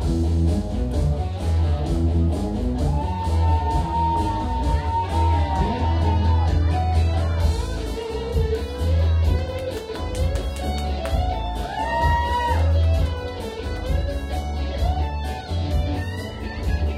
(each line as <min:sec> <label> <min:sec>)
0:00.0 People drink and chatting 0:16.9
0:00.0 guitar 0:16.9
0:09.4 applause 0:14.0